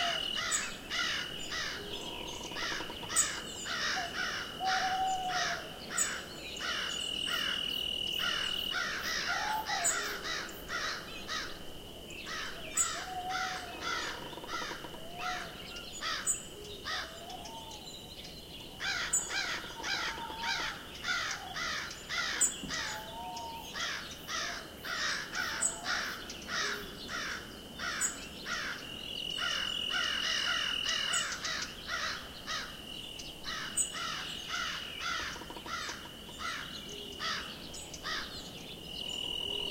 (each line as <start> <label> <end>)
0.0 hooting owls 7.6
0.0 crows 11.6
0.0 Tweeting birds 39.7
0.0 crickets 39.7
8.2 hooting owls 11.6
12.3 crows 17.8
12.3 hooting owls 17.9
18.8 crows 28.8
18.8 hooting owls 32.7
29.4 crows 32.8
33.4 crows 38.3